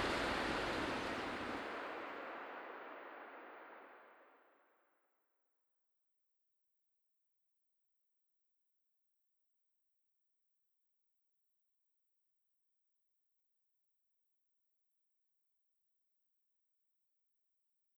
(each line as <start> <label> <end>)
0.0 passing by cars in the distance 1.6
0.0 hailstorm 2.4